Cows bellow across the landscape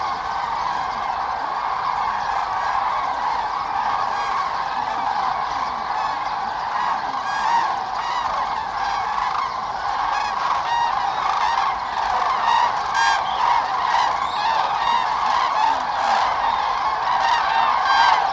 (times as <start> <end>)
0.0 5.9